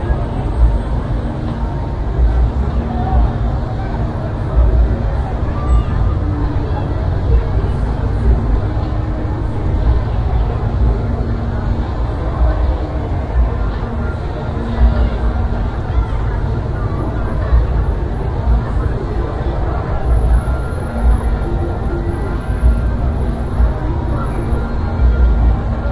thick crowds 0:00.0 - 0:25.9

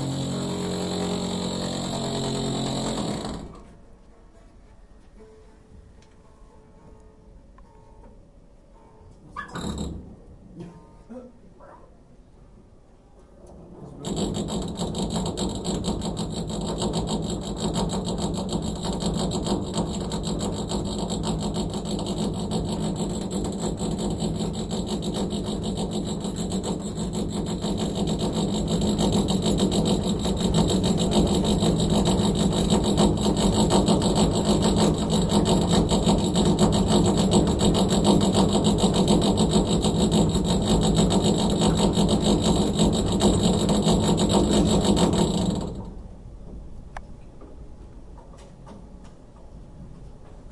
drilling through the carpeted classroom floor 0:00.0 - 0:03.8

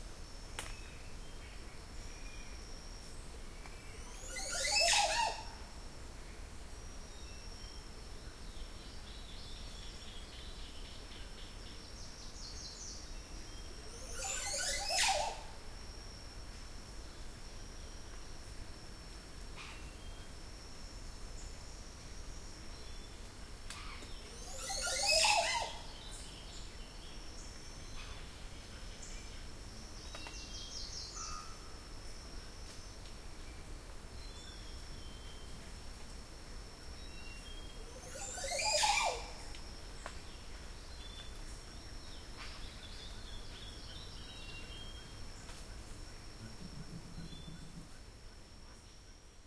large bird in a tree making such a funny and strange call 0:04.3 - 0:05.6
large bird in a tree making such a funny and strange call 0:14.0 - 0:15.5
large bird in a tree making such a funny and strange call 0:24.4 - 0:25.8
large bird in a tree making such a funny and strange call 0:38.0 - 0:39.5

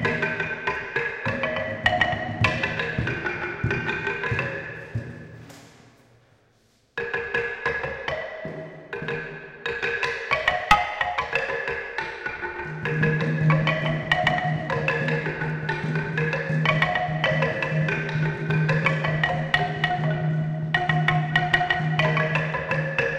Traditional xylophone 0:00.0 - 0:05.7
Traditional xylophone 0:07.0 - 0:23.1

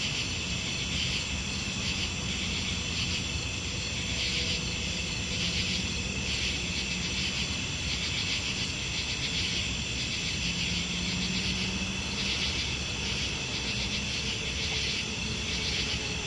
Crickets 0:00.0 - 0:16.2
Highway traffic 0:00.0 - 0:16.2
frogs 0:00.0 - 0:16.2

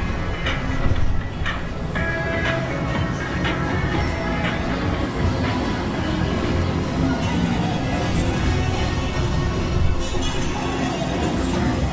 people 0:00.0 - 0:11.9

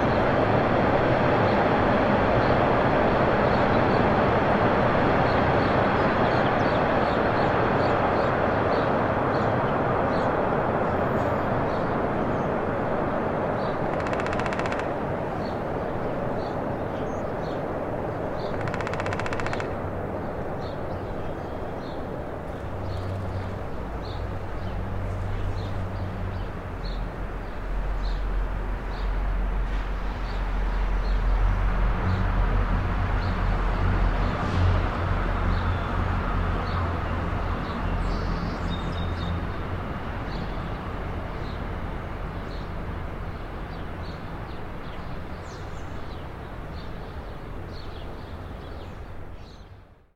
trains 0:00.0 - 0:49.4
woodpecker in tree 0:13.6 - 0:28.3

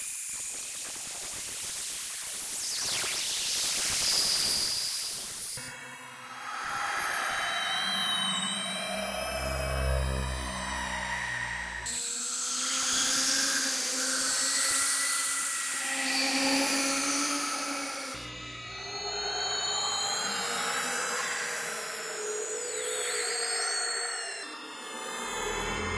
higher frequency screams & space noises 0:05.6 - 0:25.9
space drone 0:05.6 - 0:25.9

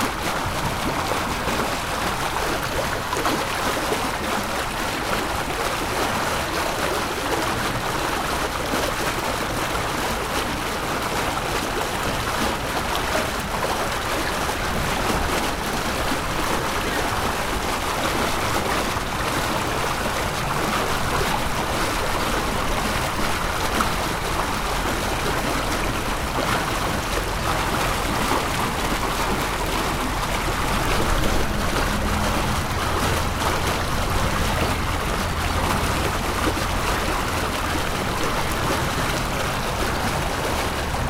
Water Gushing out of Freighter 0:00.0 - 0:41.0

